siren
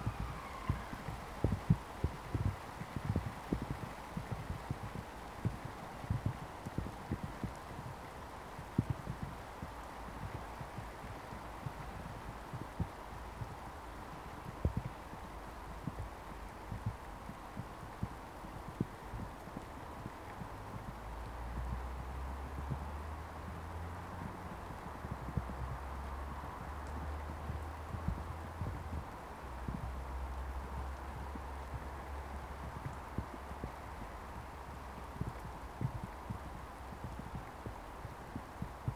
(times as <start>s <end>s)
0.0s 1.1s